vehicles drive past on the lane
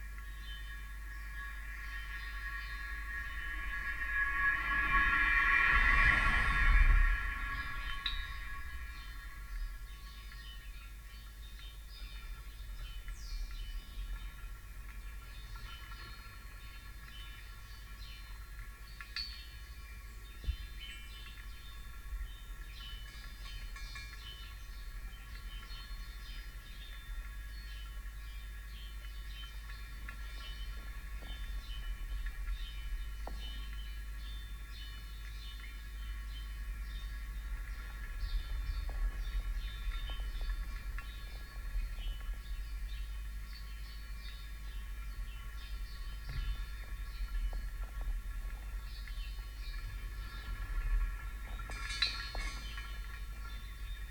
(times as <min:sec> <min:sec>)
0:02.4 0:09.8